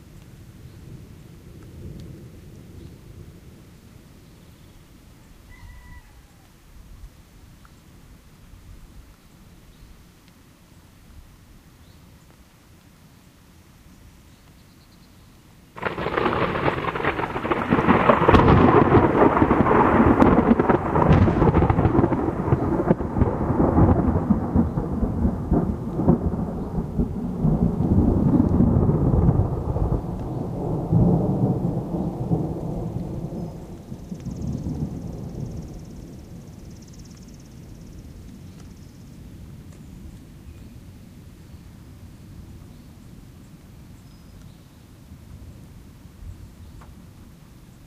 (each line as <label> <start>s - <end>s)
claps of thunder 15.8s - 36.7s